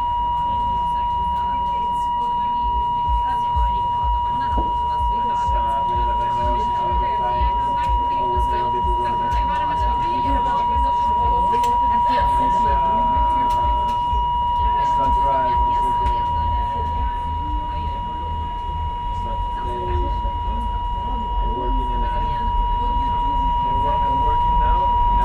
broken intercom system 0.0 - 25.2

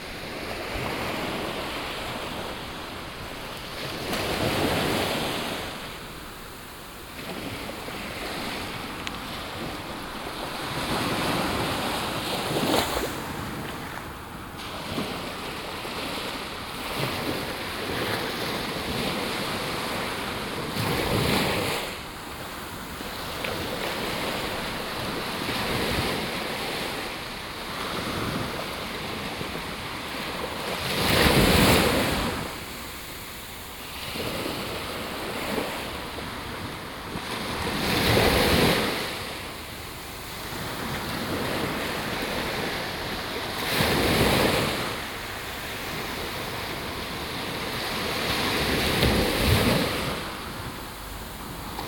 Waves 0.0 - 51.8

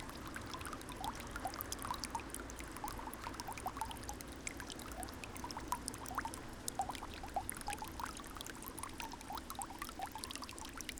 fountain, thin stream 0.0 - 10.9

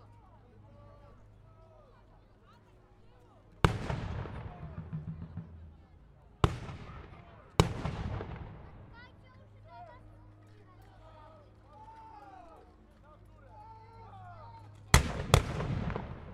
Battle 3.6 - 9.2
Battle 14.6 - 16.3

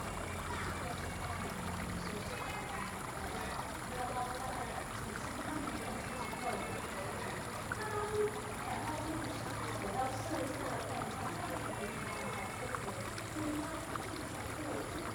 water streams 0.0 - 15.1

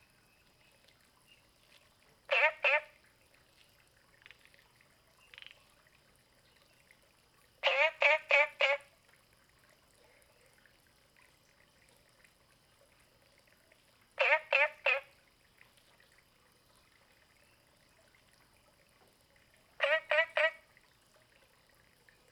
Frogs chirping 2.3 - 3.0
Frogs chirping 4.1 - 7.0
Frogs chirping 7.6 - 8.9
Frogs chirping 14.1 - 15.6
Frogs chirping 19.8 - 20.7

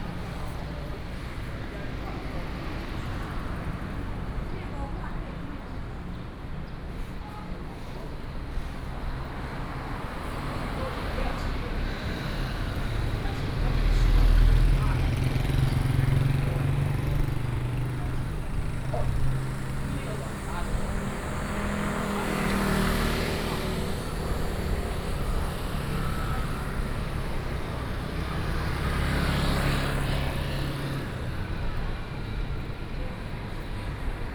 Traffic Sound 7.7 - 34.3
walking on the Road 9.2 - 34.3

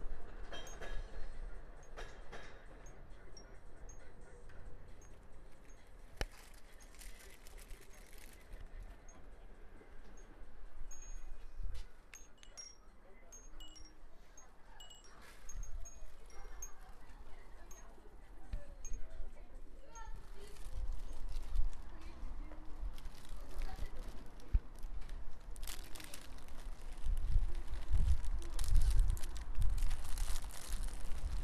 passing tram 0.0 - 12.5
bells on the kiosk 0.4 - 22.2
Tourist buying cookies 1.4 - 31.4

